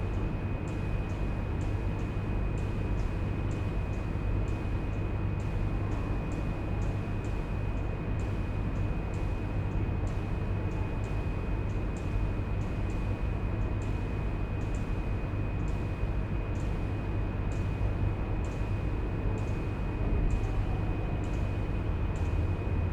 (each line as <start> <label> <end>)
10.0 regular click sounds from an alarm system 16.9
22.1 regular click sounds from an alarm system 22.4